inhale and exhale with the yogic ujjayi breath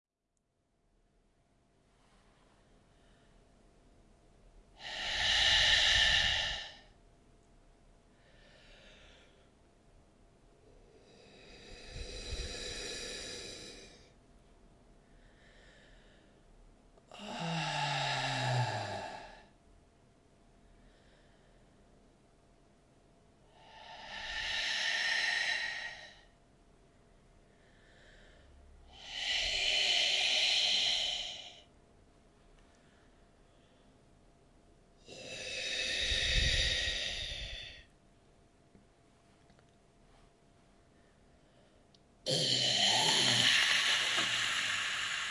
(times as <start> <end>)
1.9 3.6, 4.7 7.0, 8.0 9.7, 10.5 14.2, 15.0 19.6, 20.5 22.0, 23.4 26.5, 27.4 31.8, 32.6 34.3, 35.0 38.0, 40.8 45.3